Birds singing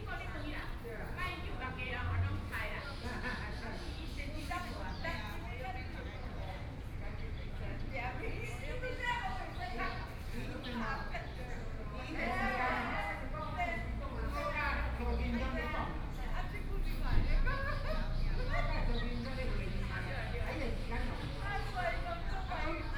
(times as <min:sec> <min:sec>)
0:02.4 0:12.2, 0:17.5 0:22.9